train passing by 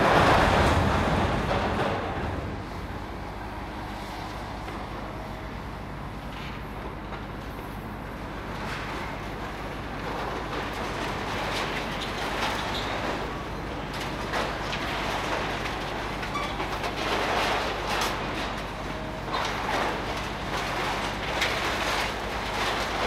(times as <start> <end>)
0.0 5.4